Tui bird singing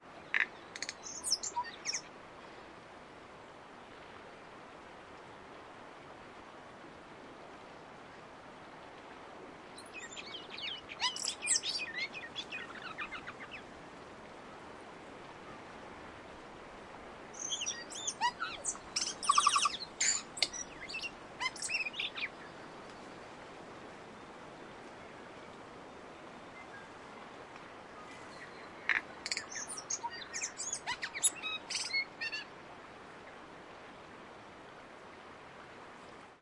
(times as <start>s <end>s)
0.1s 2.1s, 9.8s 13.7s, 17.4s 23.2s, 28.0s 32.5s